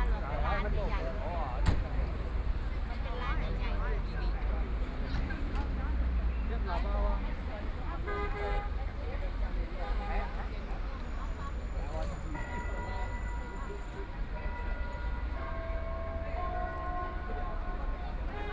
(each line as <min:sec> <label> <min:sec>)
0:00.0 Very many people and tourists 0:18.5
0:12.2 Bell tower 0:18.4